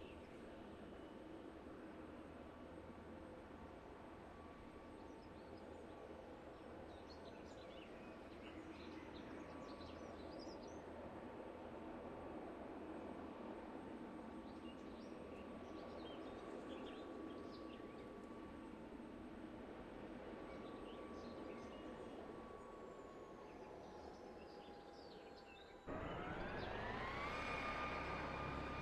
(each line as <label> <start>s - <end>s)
helicopter 0.0s - 28.8s
main car traveling sound 25.8s - 28.8s
synth firetruck sound 25.9s - 28.8s
tires 25.9s - 28.8s